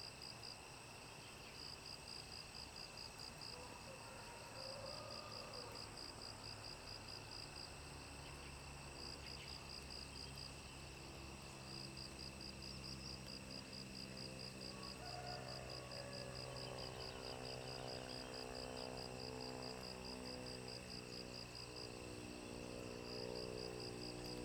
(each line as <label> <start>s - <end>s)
insects 0.0s - 24.4s